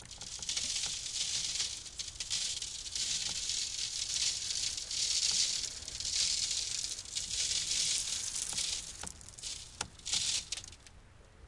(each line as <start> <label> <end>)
0.0 sand pour on metal screen 10.9